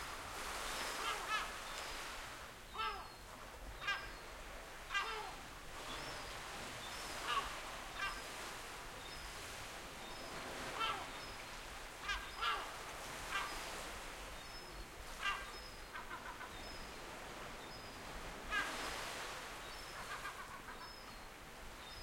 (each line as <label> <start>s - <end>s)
sea 0.0s - 22.0s
Seagulls nesting on a cliff 0.9s - 1.6s
Seagulls nesting on a cliff 2.8s - 3.1s
Seagulls nesting on a cliff 3.8s - 4.2s
Seagulls nesting on a cliff 4.9s - 8.5s
Seagulls nesting on a cliff 10.2s - 11.3s
Seagulls nesting on a cliff 12.0s - 13.9s
Seagulls nesting on a cliff 15.1s - 16.9s
Seagulls nesting on a cliff 18.5s - 21.0s